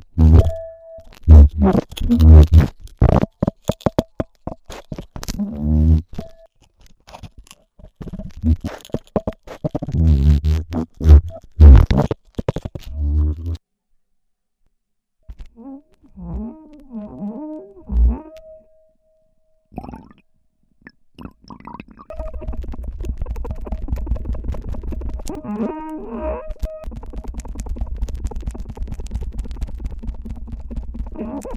Wine glasses 19.8 - 20.2

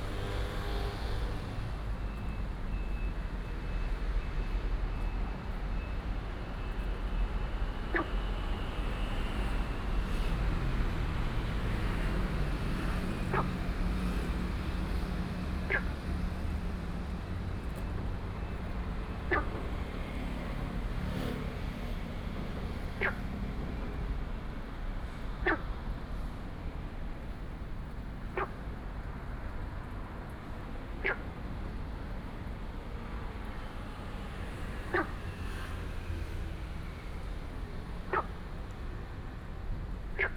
Traffic Sound 0.0 - 40.3
Frog sound 15.7 - 15.9
Frog sound 19.3 - 19.6
Frog sound 23.0 - 23.2
Frog sound 25.4 - 25.7
Frog sound 31.0 - 31.2
Frog sound 34.9 - 35.1
Frog sound 38.1 - 38.3
Frog sound 40.2 - 40.3

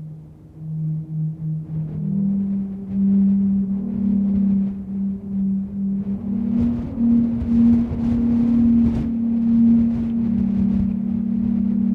Wind singing in an old tube 0.0 - 11.9

